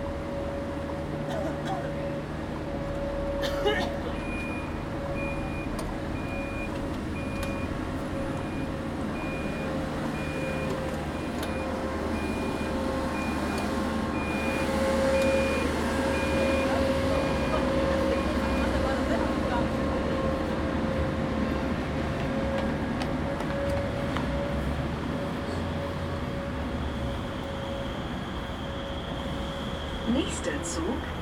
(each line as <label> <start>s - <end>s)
buses 0.0s - 31.2s
cars 0.0s - 31.2s
tram doors warn bleeping before closing 0.0s - 31.2s
Voices 3.4s - 20.8s
Voices 29.3s - 31.2s